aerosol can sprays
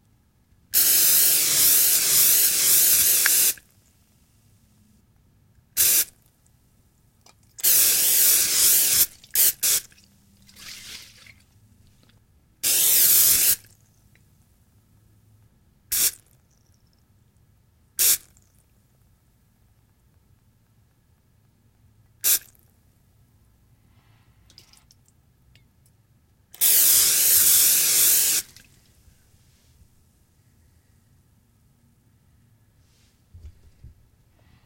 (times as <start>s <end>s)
0.8s 3.6s, 5.8s 6.0s, 7.6s 9.8s, 12.6s 13.6s, 15.9s 16.1s, 26.6s 28.6s